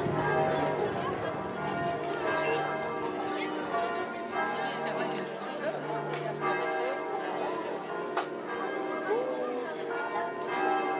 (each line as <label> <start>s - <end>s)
people's conversations 0.2s - 10.9s